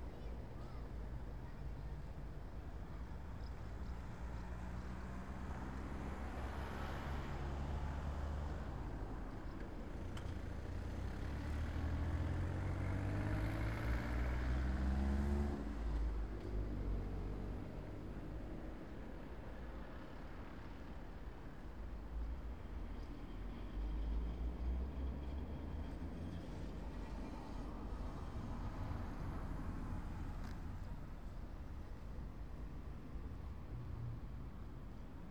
0.0s traffic 35.3s

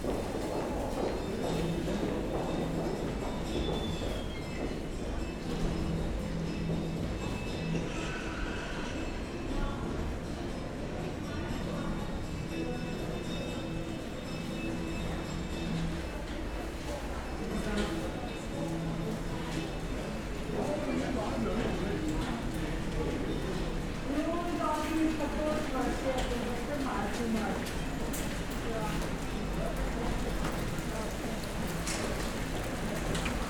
0.0s walk through passage 5.6s

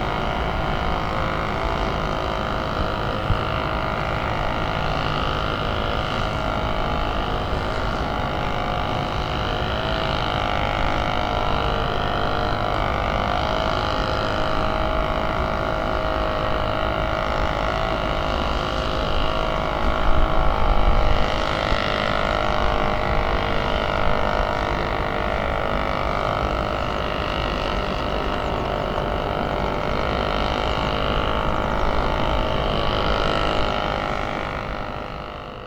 0.0s man overdriving a string trimmer 35.6s

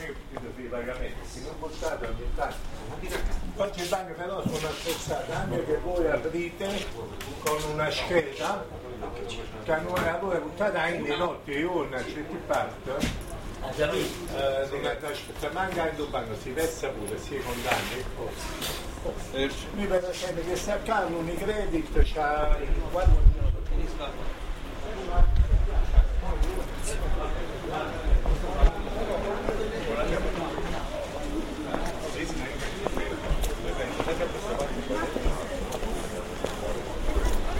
28.2s walking 37.5s

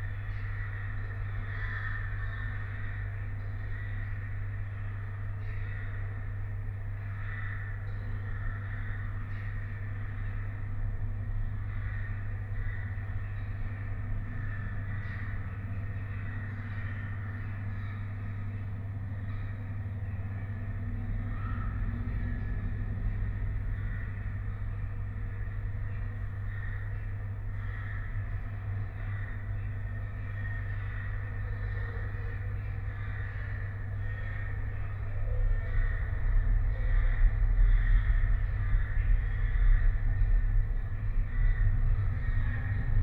0.0s hundreds of crows 43.0s
13.7s transport drone 43.0s

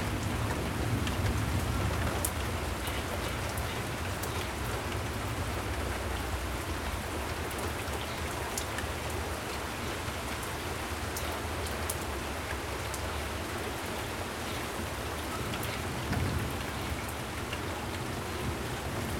0.0s rainstorm 19.1s

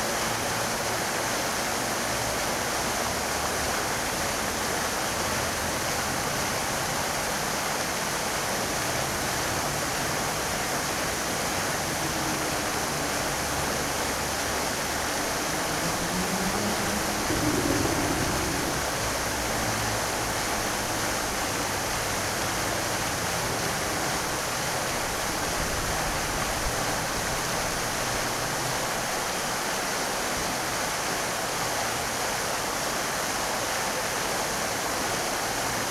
0.0s fountain 35.9s

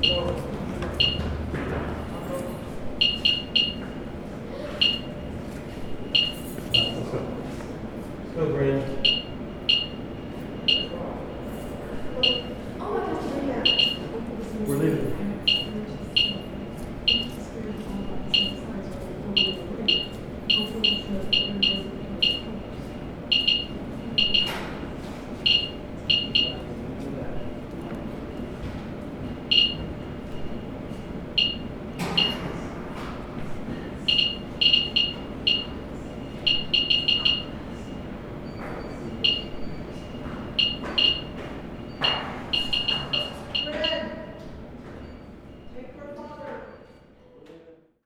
0.0s Geiger counter 0.4s
1.0s Geiger counter 1.4s
3.0s Geiger counter 3.9s
4.8s Geiger counter 5.2s
6.0s Geiger counter 7.0s
9.0s Geiger counter 11.0s
12.2s Geiger counter 12.6s
13.6s Geiger counter 14.1s
15.5s Geiger counter 16.4s
18.2s Geiger counter 18.6s
19.4s Geiger counter 22.6s
23.3s Geiger counter 24.6s
25.4s Geiger counter 26.7s
29.5s Geiger counter 29.9s
31.4s Geiger counter 32.4s
34.1s Geiger counter 37.6s
39.2s Geiger counter 39.8s
40.6s Geiger counter 41.3s
42.0s Geiger counter 44.2s

